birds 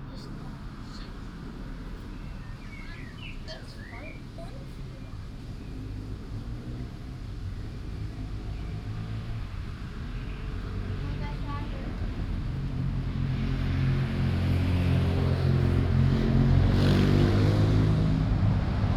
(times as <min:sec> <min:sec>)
0:00.5 0:13.4